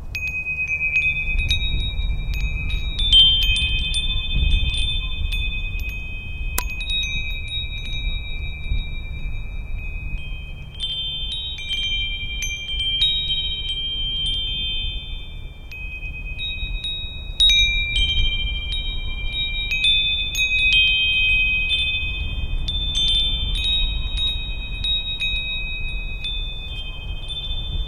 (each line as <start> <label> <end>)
0.0 wind chimes 27.8